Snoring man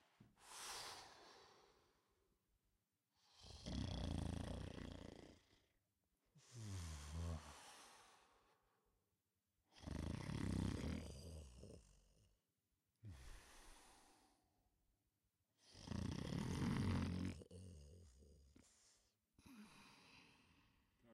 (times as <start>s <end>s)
3.2s 5.7s, 6.4s 8.3s, 9.7s 12.3s, 15.6s 20.5s